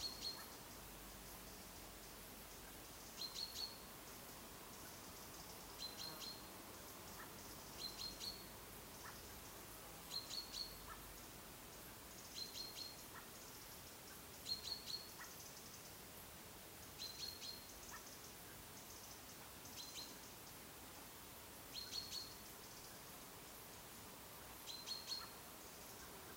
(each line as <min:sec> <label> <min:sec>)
0:00.0 birds 0:16.2
0:16.8 birds 0:20.7
0:21.7 birds 0:26.3